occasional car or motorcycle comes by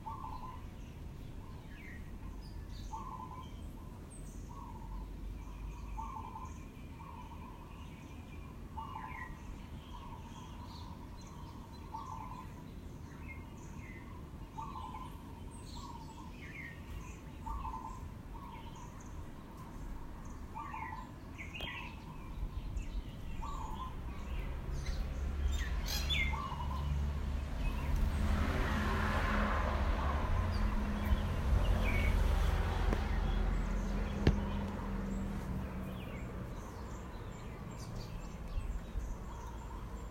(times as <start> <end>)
23.4 39.8